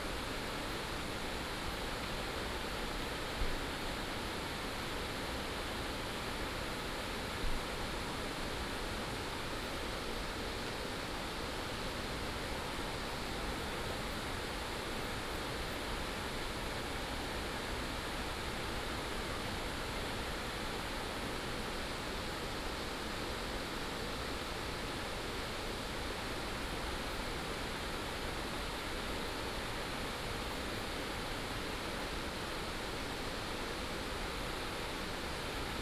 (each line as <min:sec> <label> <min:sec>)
0:00.0 streams and waterfalls 0:35.8